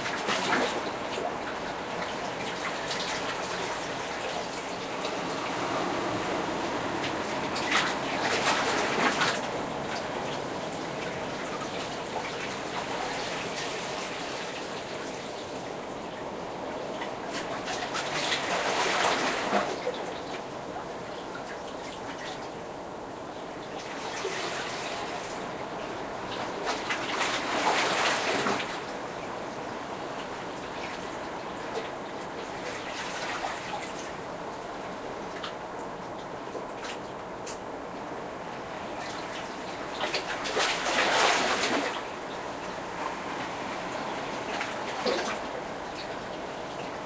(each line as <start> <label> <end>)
0.0 Sea waves passing through the stones 15.9
17.0 Sea waves passing through the stones 20.4
23.8 Sea waves passing through the stones 34.2
38.4 Sea waves passing through the stones 47.0